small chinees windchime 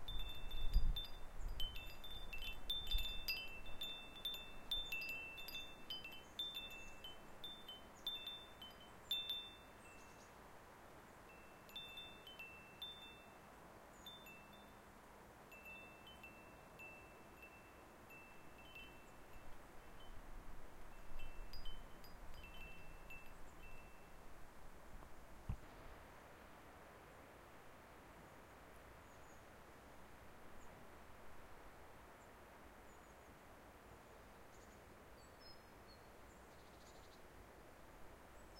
0.0 10.4, 11.2 14.9, 15.5 24.3

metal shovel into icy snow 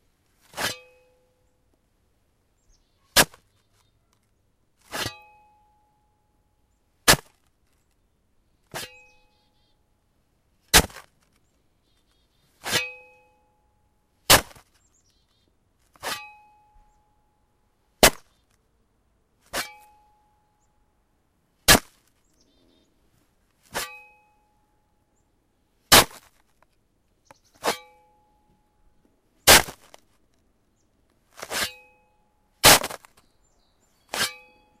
0.4 0.9, 4.8 5.2, 8.7 9.2, 12.6 13.0, 14.3 14.6, 15.9 16.4, 19.5 20.0, 23.6 24.2, 25.9 26.4, 27.6 27.9, 29.5 30.0, 31.3 31.9, 32.6 33.2, 34.0 34.7

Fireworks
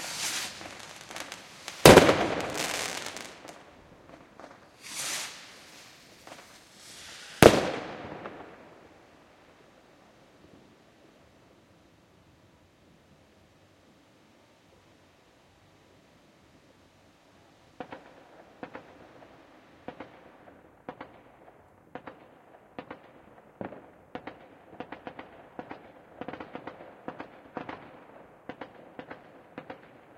0.0 9.3, 17.8 30.1

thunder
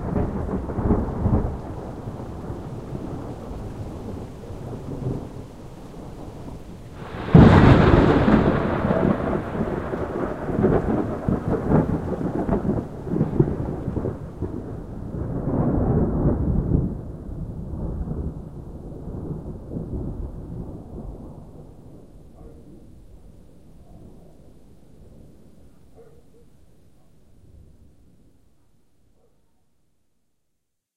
0.0 23.0

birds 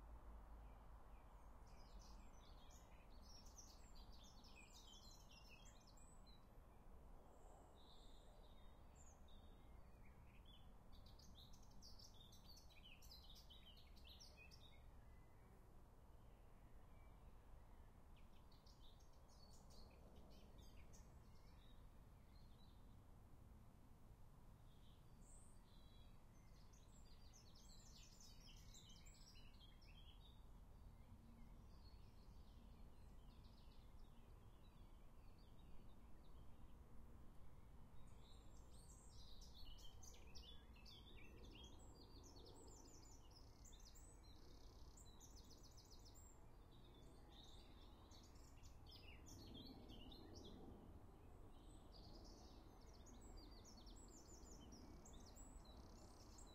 0.7 6.6, 7.4 15.6, 24.7 36.8, 37.9 56.5

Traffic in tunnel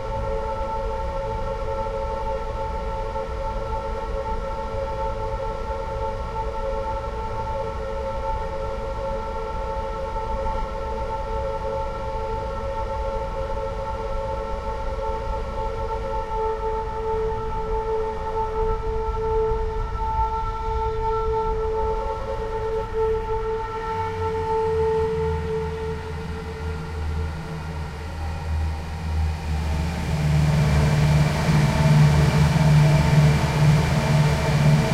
23.9 34.9

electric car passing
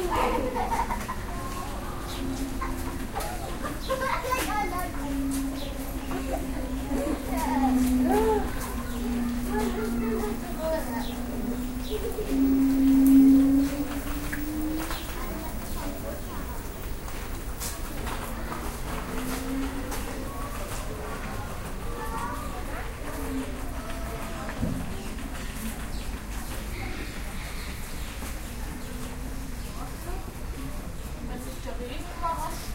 0.0 24.9

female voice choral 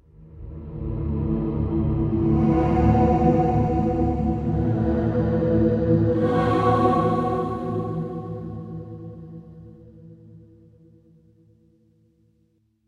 6.0 9.2

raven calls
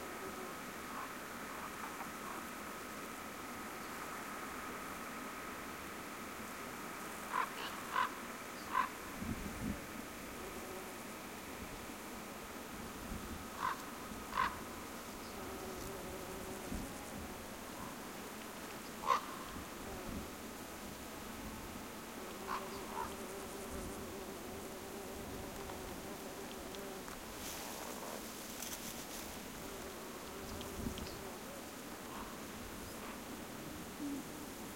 0.9 2.5, 7.3 9.0, 13.6 14.7, 19.0 19.6, 22.4 23.2

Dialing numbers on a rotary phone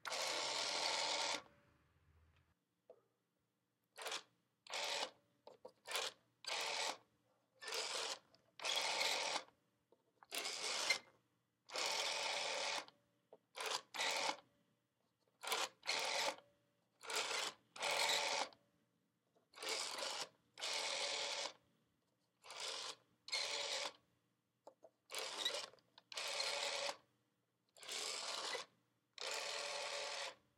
0.0 1.5, 25.1 27.1, 28.1 30.4

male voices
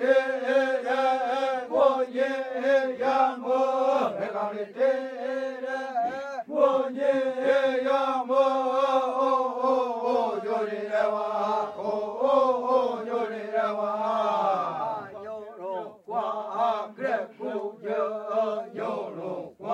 5.0 6.8, 13.7 17.7

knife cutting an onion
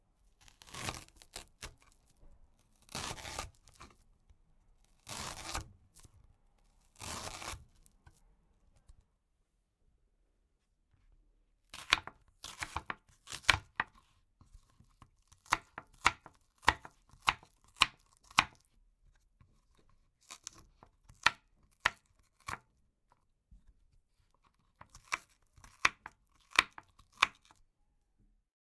0.4 2.0, 2.6 4.0, 5.0 6.1, 6.9 8.2, 11.7 18.7, 19.4 27.6

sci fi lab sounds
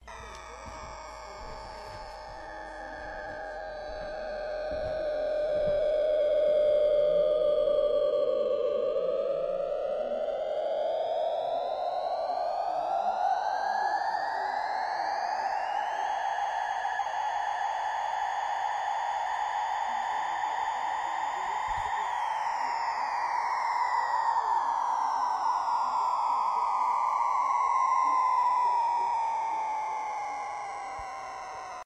0.0 9.0

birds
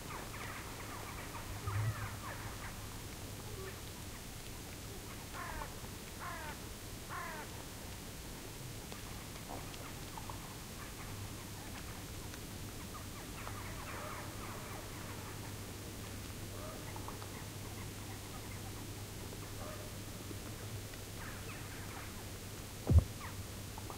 12.7 15.6

